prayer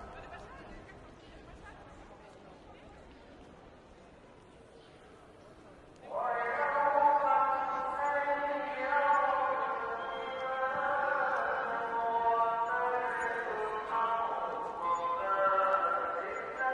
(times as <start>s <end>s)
6.0s 16.7s